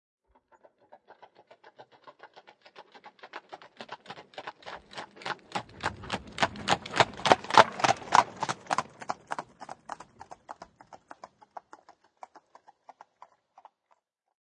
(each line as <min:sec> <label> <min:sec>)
0:00.5 Horsewagon pass fast#2 0:13.5